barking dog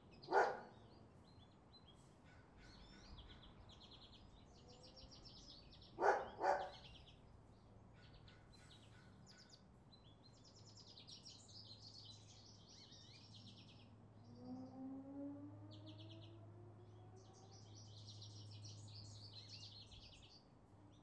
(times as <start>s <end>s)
0.3s 0.8s, 6.0s 6.8s